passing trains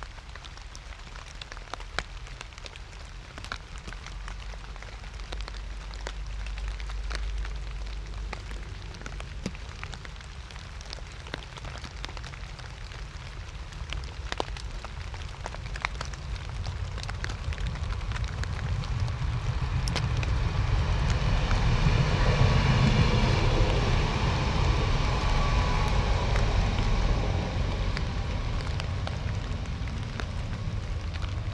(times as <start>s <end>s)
18.9s 31.5s